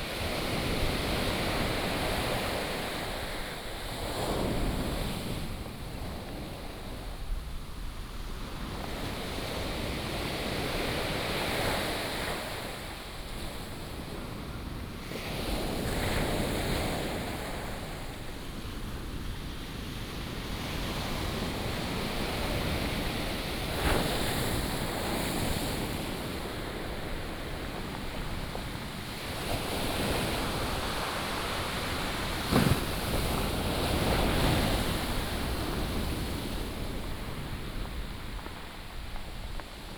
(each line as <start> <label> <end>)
20.2 waves 39.9